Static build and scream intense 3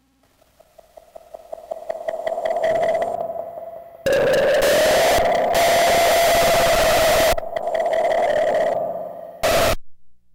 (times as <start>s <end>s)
1.8s 9.8s